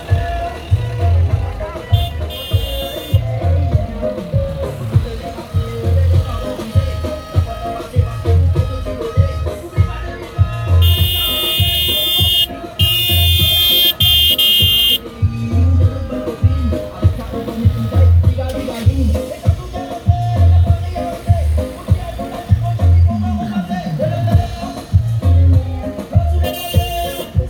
Cortège electoral 0.0 - 27.4

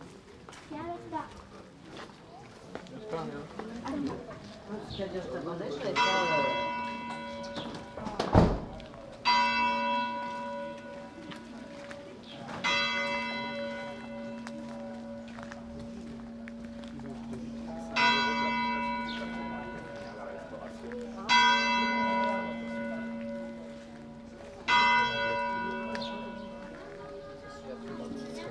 People walking and talking 0.0 - 28.5
Bells at 7pm 5.9 - 8.2
Bells at 7pm 8.9 - 11.7
Bells at 7pm 12.6 - 28.5

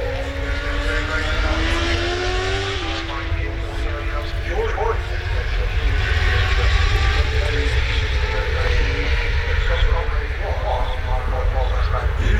british motorcycle grand prix 0.0 - 12.3

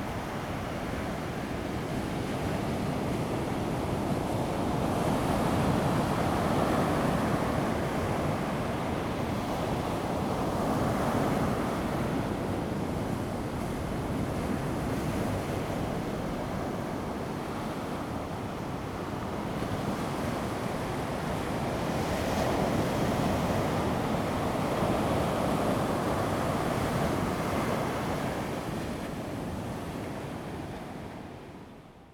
waves 15.0 - 31.8

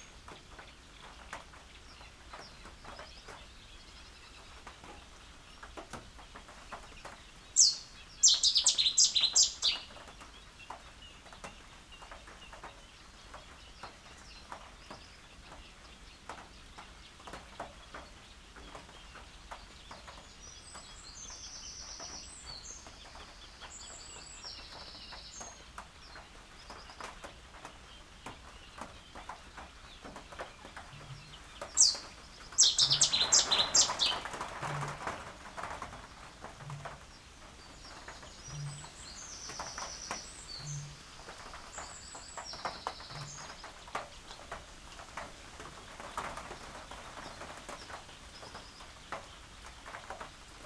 rain falling on an open sided bird hide 0.0 - 50.6
reed warbler 6.8 - 11.1
Cetti's warbler 7.6 - 10.0
little grebe 31.0 - 44.5
reed warbler 31.1 - 34.5
Cetti's warbler 31.5 - 34.8
reed warbler 37.0 - 44.5

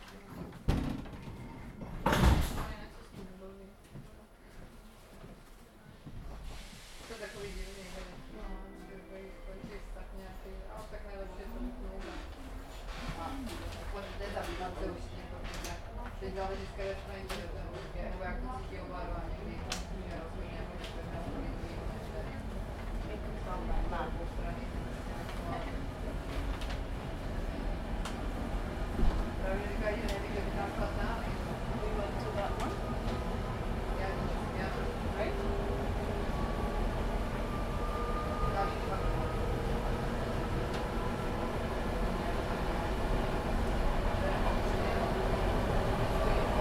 people chatting 2.5 - 4.3
people chatting 7.1 - 12.5
passengers getting on 12.0 - 46.6
people chatting 13.1 - 26.0
people chatting 29.4 - 36.7
people chatting 37.9 - 39.5
people chatting 44.1 - 46.6

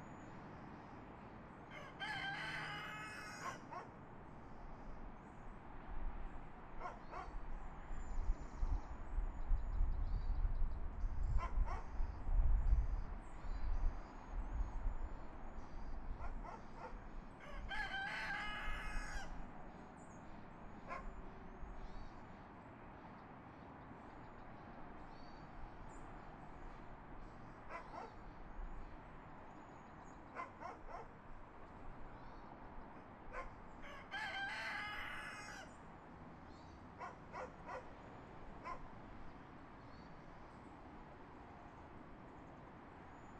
rooster 1.7 - 3.8
rooster 16.4 - 19.4
barking 27.7 - 28.2
barking 30.4 - 31.1
barking 33.3 - 33.6
rooster 33.3 - 35.8
barking 37.0 - 37.9

